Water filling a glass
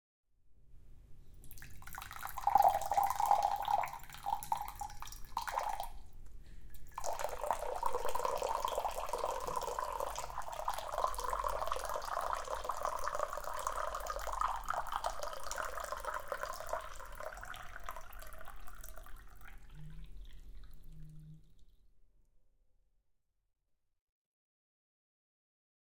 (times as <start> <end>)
1.4 6.0, 6.8 21.7